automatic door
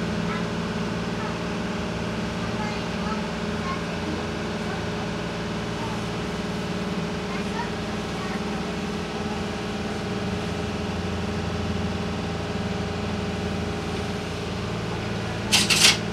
0:15.4 0:16.1

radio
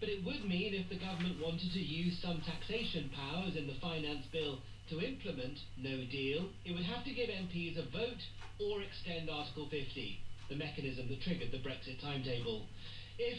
0:00.8 0:06.0

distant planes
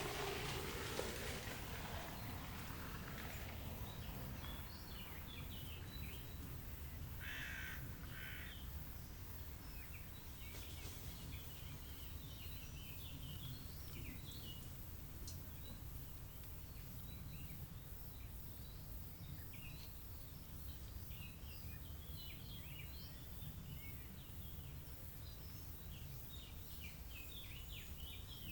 0:00.0 0:17.9

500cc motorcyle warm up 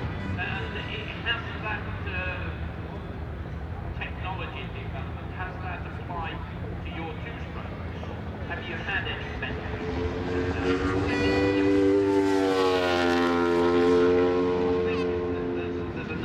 0:09.6 0:16.2

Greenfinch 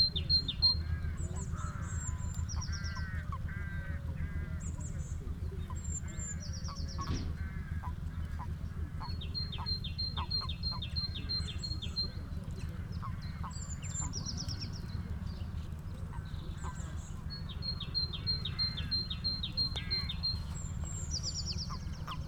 0:09.0 0:22.2

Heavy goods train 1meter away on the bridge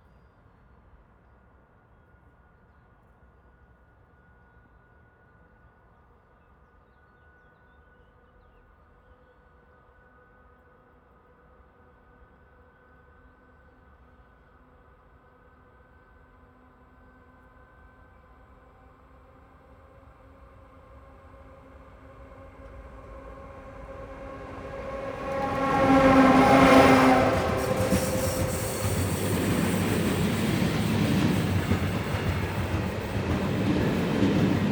0:20.5 0:34.7

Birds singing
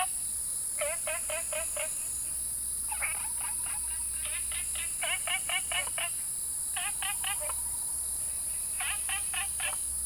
0:02.9 0:09.9

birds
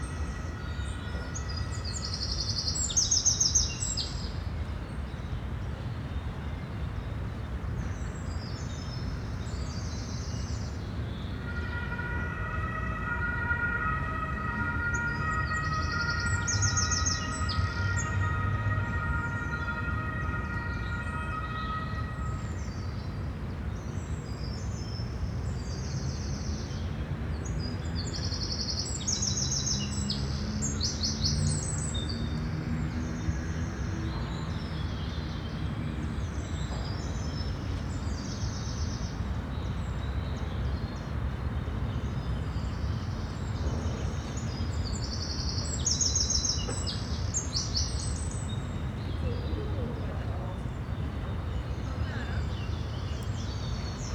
0:13.5 0:54.1

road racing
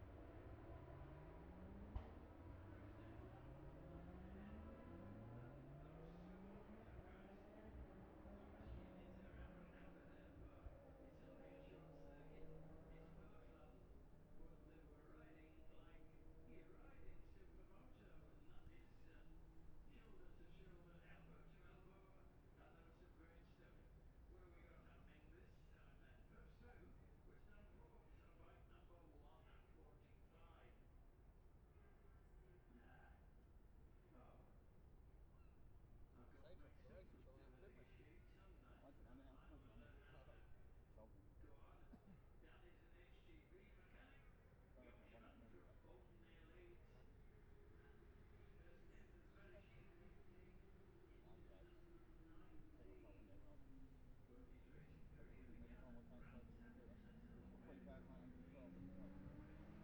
0:00.0 0:23.6, 0:46.8 0:59.8

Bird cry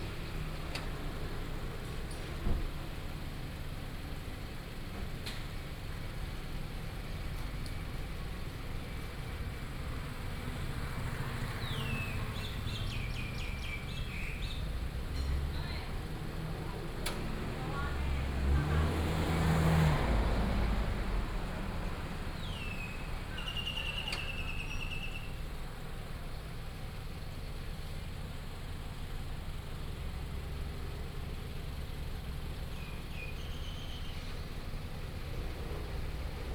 0:22.4 0:25.4, 0:32.7 0:34.5

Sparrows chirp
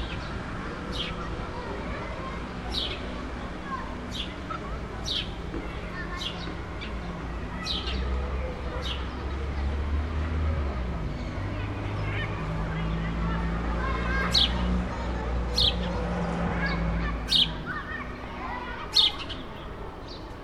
0:02.6 0:03.2, 0:06.0 0:08.1, 0:16.7 0:20.4

